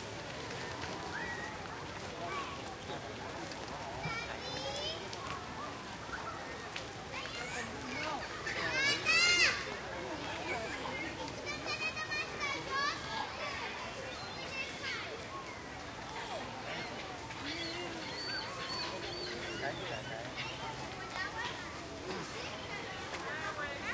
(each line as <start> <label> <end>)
0.0 crowd 23.9